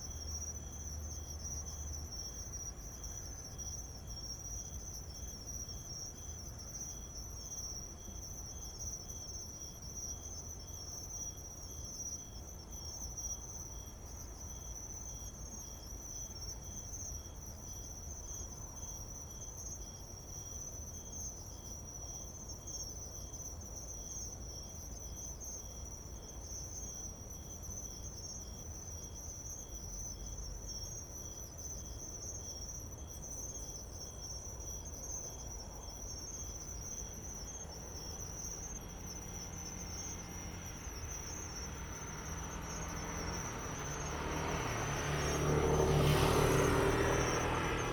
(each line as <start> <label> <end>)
0.0 Insects sound 47.9